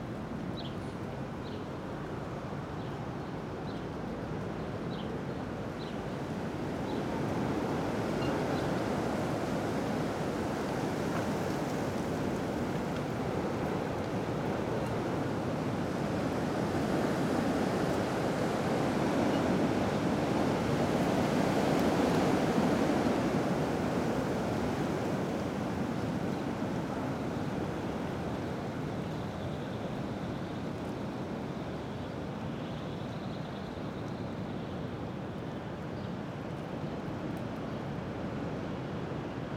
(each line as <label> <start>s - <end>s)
strong wind in trees 0.0s - 39.5s